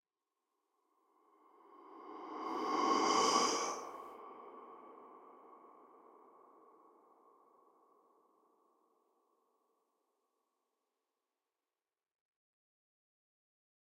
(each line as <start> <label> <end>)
1.7 whoosh 4.2